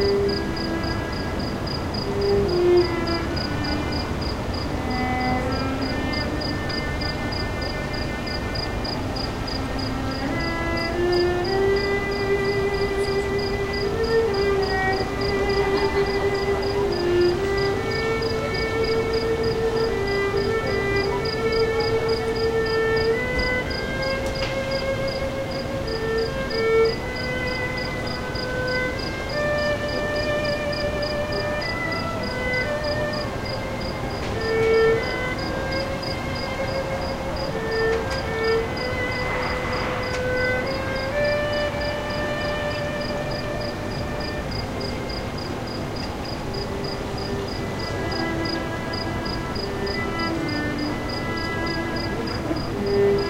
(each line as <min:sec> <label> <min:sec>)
0:00.0 cello 0:53.2